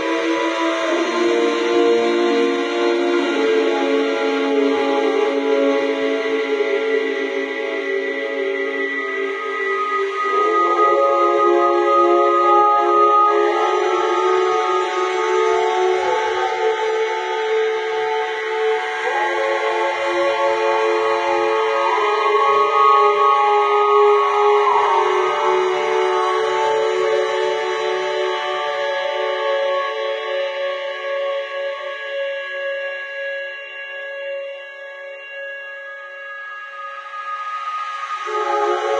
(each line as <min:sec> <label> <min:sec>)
0:00.0 few singers 0:30.4